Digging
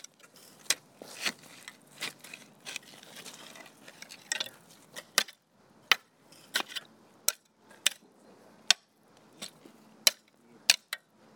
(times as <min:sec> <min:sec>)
0:00.0 0:08.0